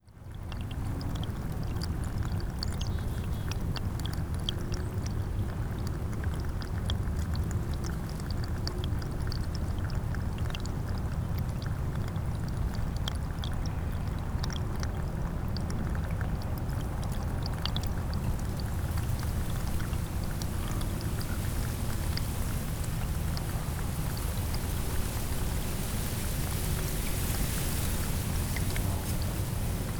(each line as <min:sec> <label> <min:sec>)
0:00.0 tiny stream formed from the river flowing past its bank 0:29.9
0:00.0 wind 0:29.9
0:18.1 birds 0:29.9